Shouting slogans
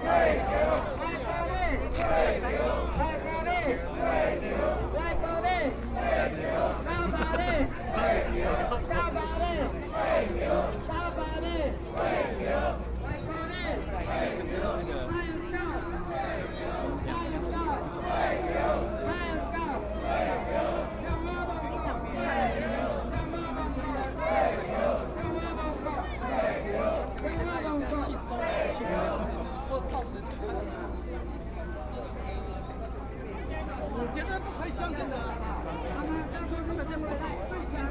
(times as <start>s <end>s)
0.0s 29.6s